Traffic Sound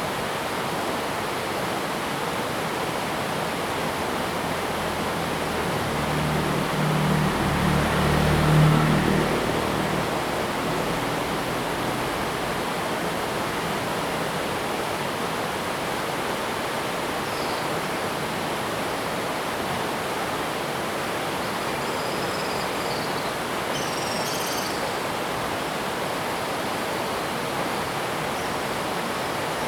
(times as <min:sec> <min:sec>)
0:03.4 0:15.4